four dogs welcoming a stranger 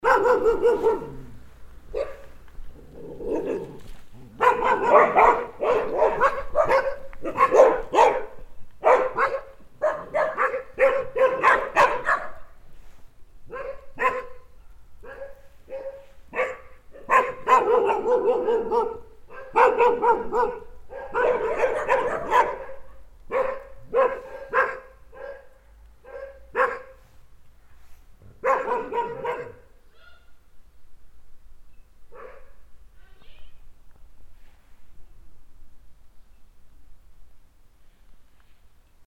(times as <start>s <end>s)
0.0s 12.7s, 13.4s 27.4s, 28.1s 29.9s